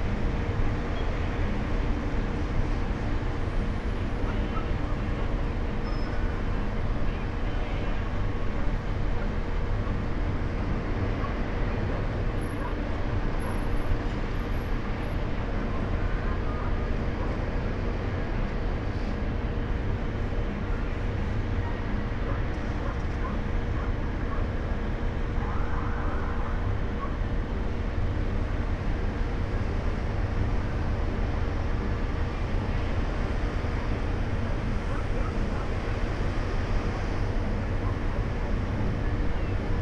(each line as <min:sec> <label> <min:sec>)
0:00.0 harbour activity 0:39.8